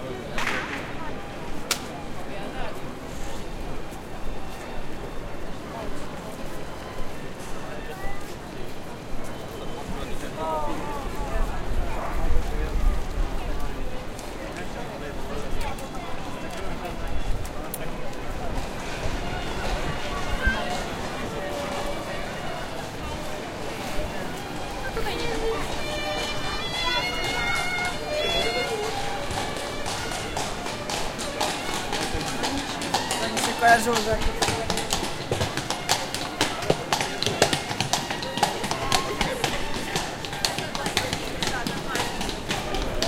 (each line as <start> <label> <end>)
0.0 people 43.0
0.0 violin 43.0
25.2 horses 43.0